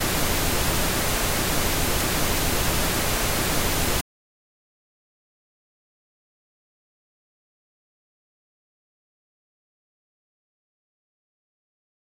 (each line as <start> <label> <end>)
0.0 Pink Noise 4.0